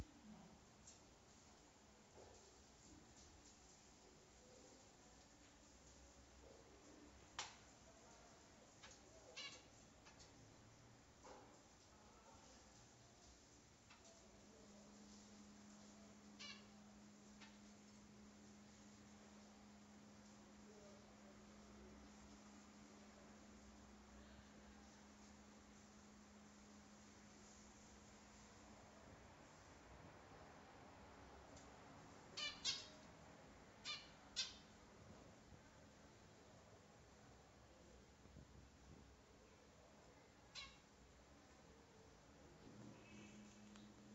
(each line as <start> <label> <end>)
0.0 white noise 44.1
8.8 birds 10.4
32.4 birds 33.1
33.8 birds 34.8
40.5 birds 40.9